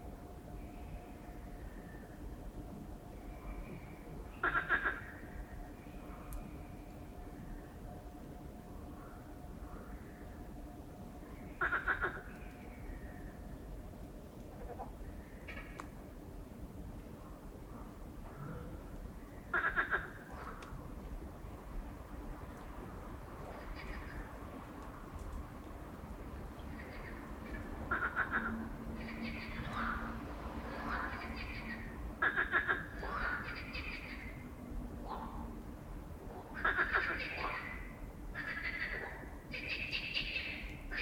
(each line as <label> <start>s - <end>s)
night frogs 0.0s - 16.2s
night frogs 17.1s - 25.3s
night frogs 26.4s - 41.0s